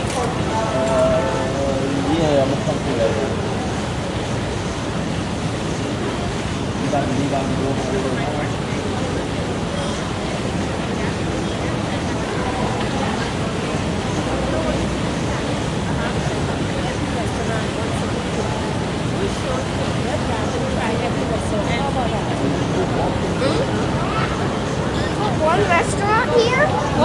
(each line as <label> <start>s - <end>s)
people 0.0s - 27.0s